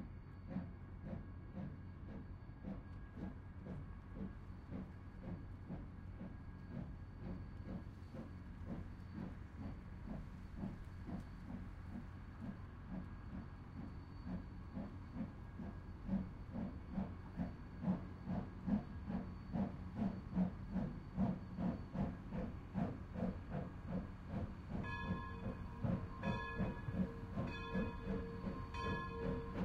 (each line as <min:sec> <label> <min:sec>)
0:00.4 Steam Train Leaving Station 0:29.6
0:00.4 people watching the train 0:29.6
0:24.8 Crossing bells 0:29.6